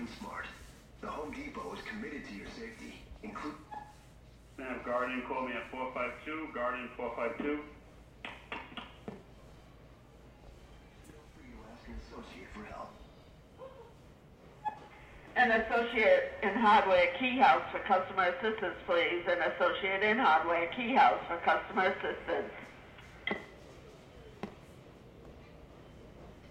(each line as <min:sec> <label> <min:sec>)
0:00.0 PA Advert 0:13.6
0:04.6 Announcement 0:07.9
0:15.3 Announcement 0:23.2